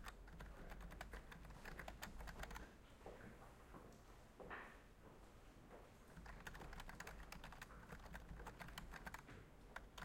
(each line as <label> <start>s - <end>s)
Typing 0.0s - 2.6s
Typing 6.2s - 10.0s